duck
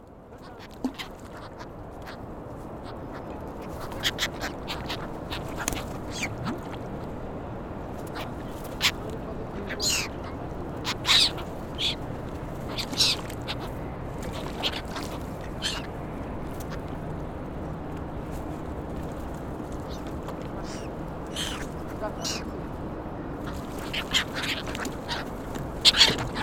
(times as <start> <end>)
0.4 2.2, 3.1 6.8, 12.7 13.7, 14.3 15.9, 23.4 26.4